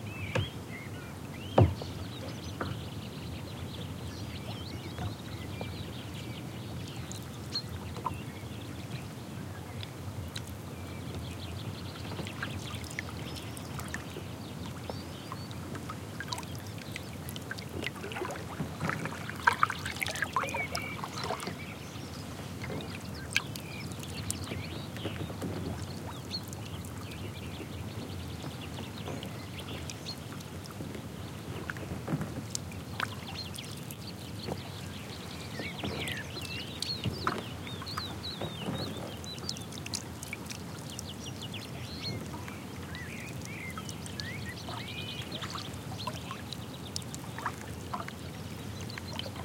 water moved by paddles 0:00.0 - 0:49.4

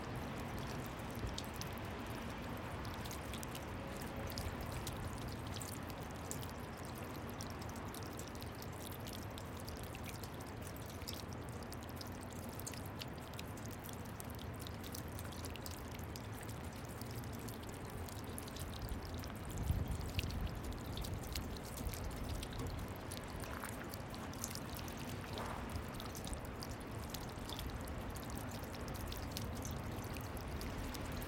light rain 0:00.0 - 0:31.2
dripping 0:00.1 - 0:31.2

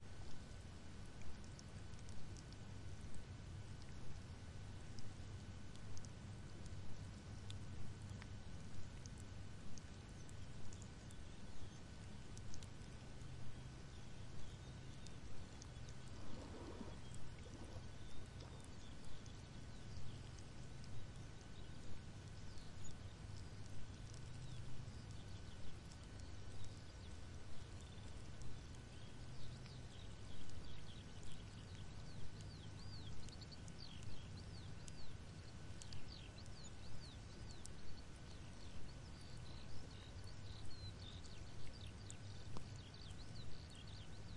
Sizzling of the seabed at low tide 0:00.0 - 0:44.3
soft waves 0:00.1 - 0:32.4

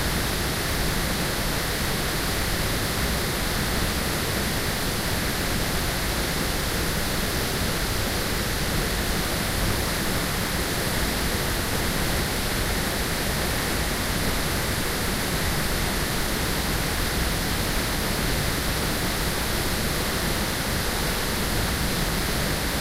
large water-fall 0:00.0 - 0:22.8

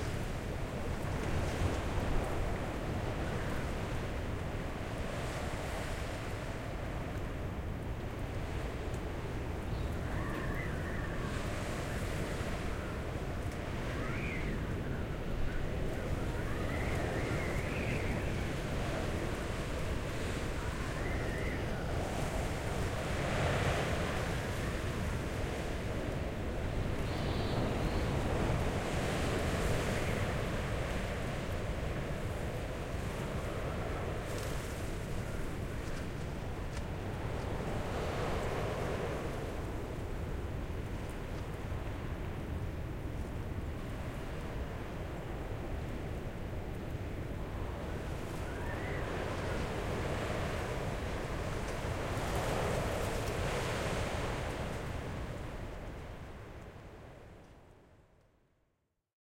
wind 0:00.0 - 0:59.0

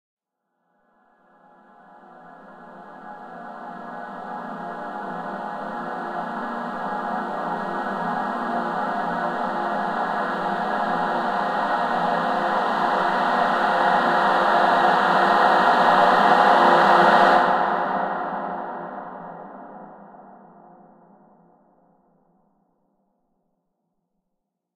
Dissonant Choir Rise 0:01.8 - 0:19.4

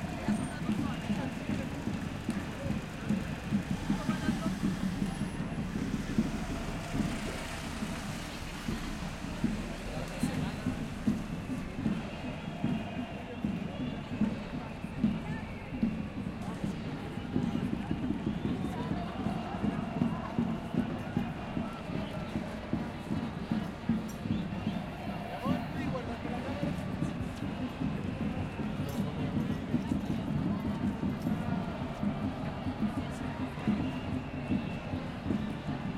crowd 0:00.0 - 0:35.9

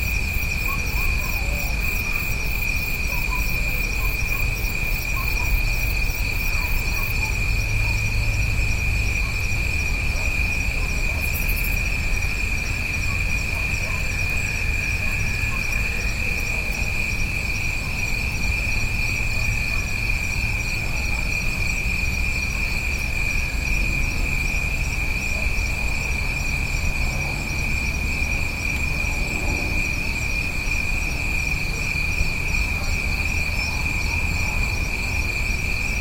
crickets 0:00.0 - 0:36.0

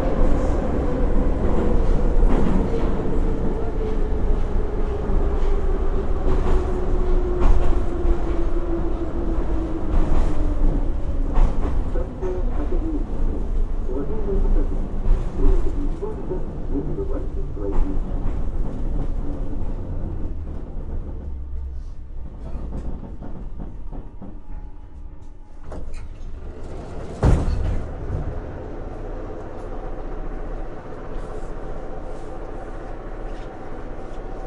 subway ride 0:00.0 - 0:34.4
announcements 0:11.9 - 0:18.3
people talking 0:11.9 - 0:18.3
doors 0:22.4 - 0:28.6

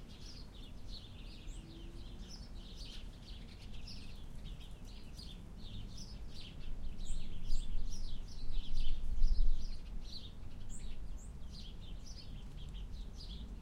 birds 0:00.0 - 0:13.6
wind distorts the recording 0:00.0 - 0:13.6

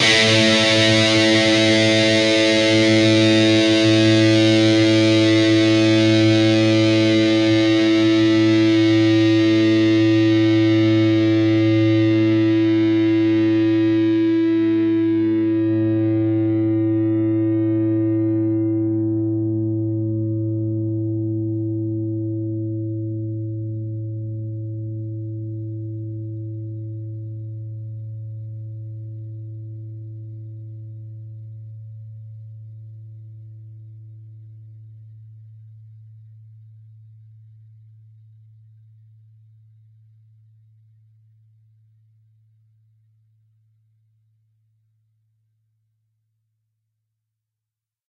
distorted guitar 0:00.0 - 0:31.0

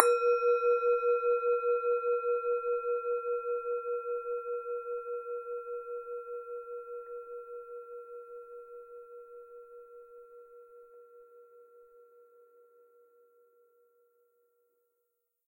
small traditional tibetan bell hit with its wood stick 0:00.0 - 0:01.6

